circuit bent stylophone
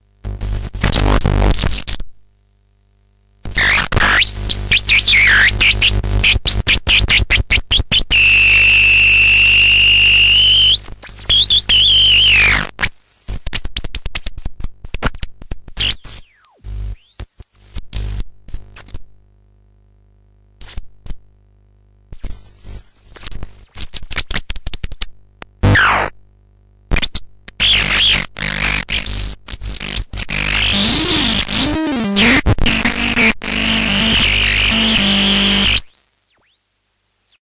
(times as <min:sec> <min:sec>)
0:27.6 0:37.4